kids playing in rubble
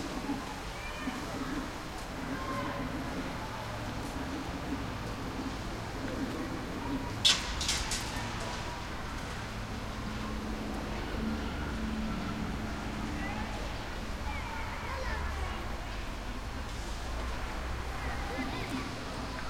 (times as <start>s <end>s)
0.1s 4.2s, 13.0s 19.4s